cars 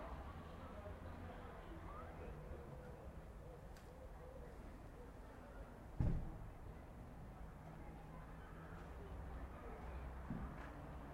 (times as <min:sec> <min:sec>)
0:00.0 0:03.6